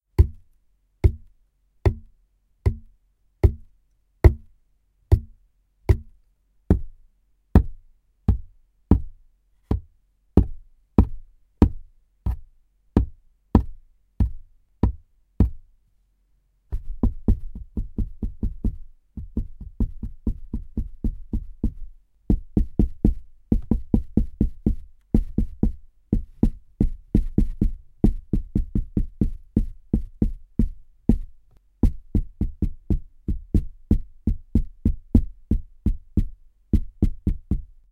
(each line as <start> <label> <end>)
0.2 hitting a small cardboard box with my hands 2.1
2.7 hitting a small cardboard box with my hands 4.5
5.9 hitting a small cardboard box with my hands 6.9
7.6 hitting a small cardboard box with my hands 15.6